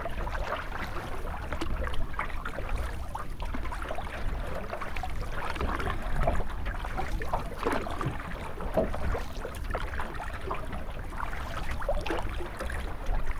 0.0s Canoeing on a swedish lake 13.3s

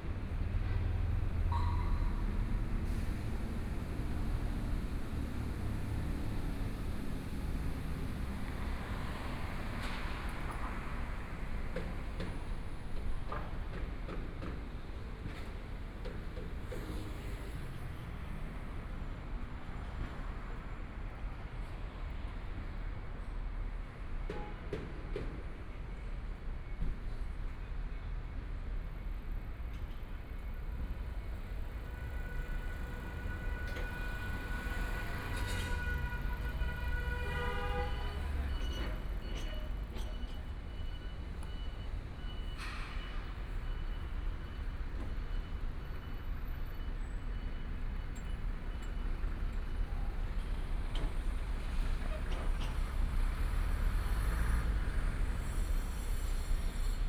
0.0s Traffic Sound 25.6s
0.0s Construction site sounds 57.0s
27.7s Traffic Sound 57.0s

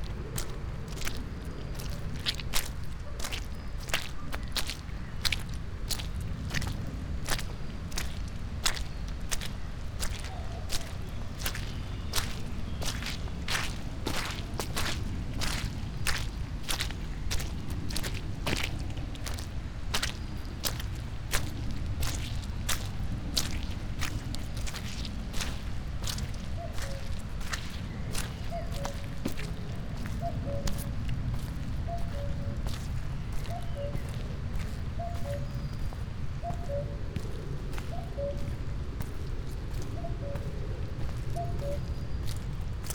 0.0s mud walk 42.9s

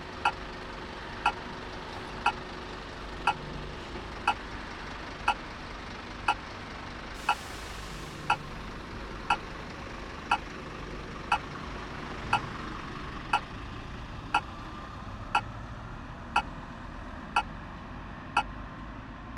8.2s red light signal for pedestrians 8.5s

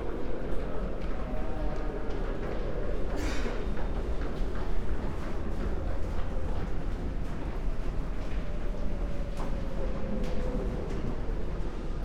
0.0s night train 12.0s

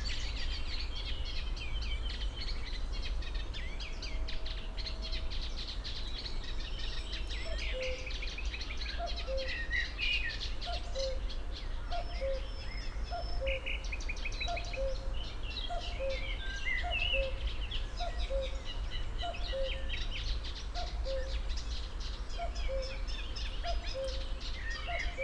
9.0s cuckoo 9.7s
10.6s cuckoo 11.3s
11.9s cuckoo 12.5s
14.5s cuckoo 15.1s
15.7s cuckoo 17.4s
18.0s cuckoo 18.6s
19.2s cuckoo 19.9s
22.4s cuckoo 23.0s
23.6s cuckoo 25.2s

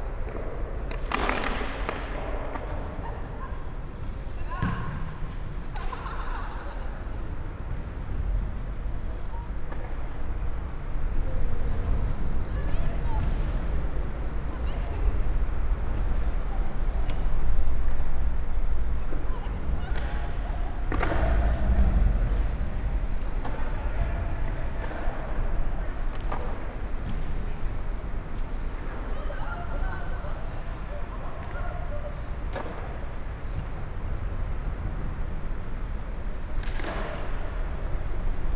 0.0s BMX biker 38.5s
0.0s skaters 38.5s
2.1s deep drone of the traffic above 38.5s

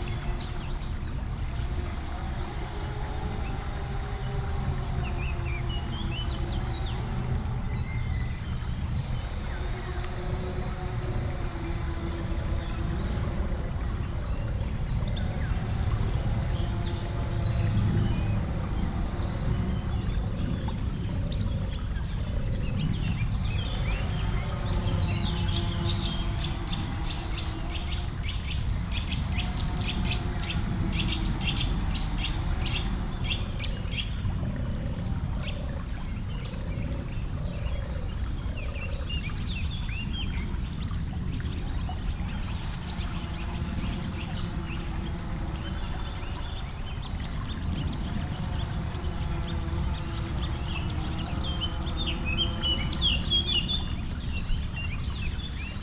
0.0s birds 55.8s
0.0s river spring 55.8s

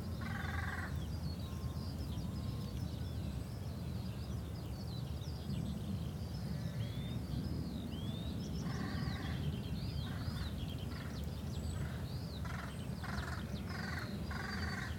0.0s birds 14.9s

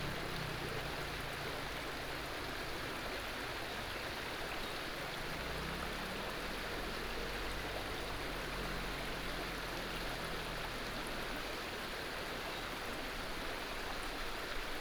0.0s stream 14.8s

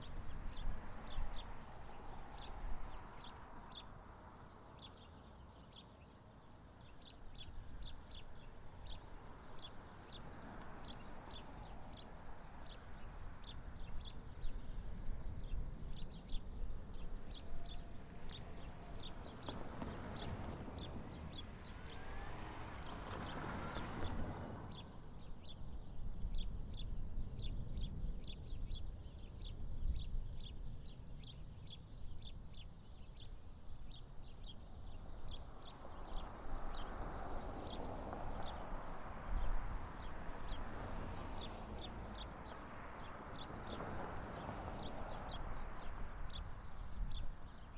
0.0s Birds In Trees 47.7s

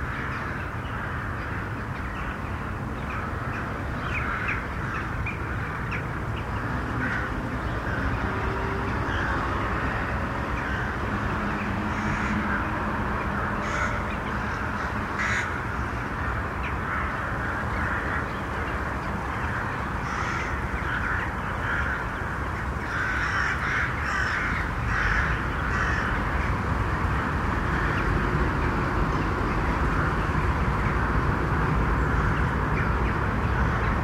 0.0s crows 2.4s
3.0s crows 28.3s
32.0s crows 34.0s

